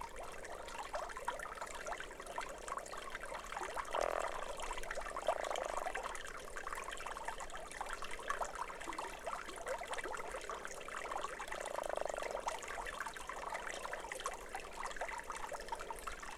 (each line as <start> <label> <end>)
3.4 croaking frog 6.6
11.0 croaking frog 16.3